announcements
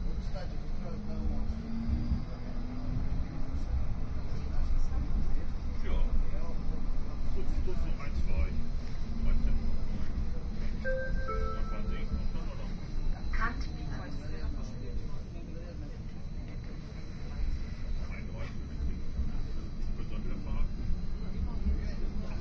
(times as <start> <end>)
10.5 14.0